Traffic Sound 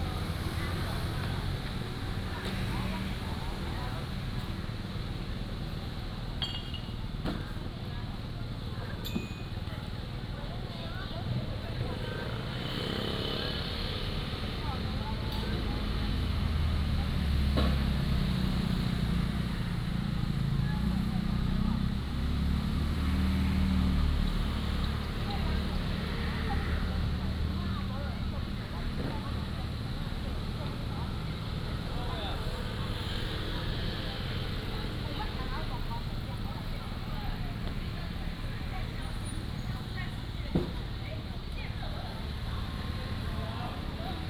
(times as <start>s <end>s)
10.8s 44.2s